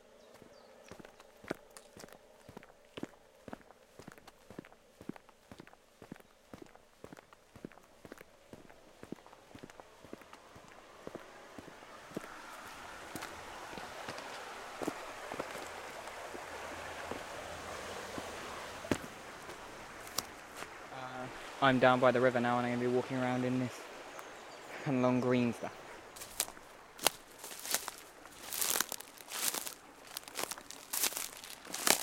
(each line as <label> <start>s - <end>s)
Footsteps on Dry Leaves, Grass, and Tarmac 0.0s - 20.8s
stream 0.0s - 32.0s
Footsteps on Dry Leaves, Grass, and Tarmac 25.8s - 32.0s